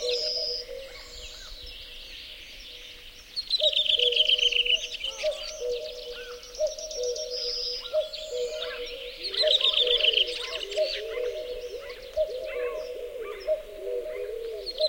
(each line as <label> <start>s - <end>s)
cuckoo 0.0s - 3.0s
other birds in the bg 0.0s - 14.8s
cuckoo 3.6s - 14.8s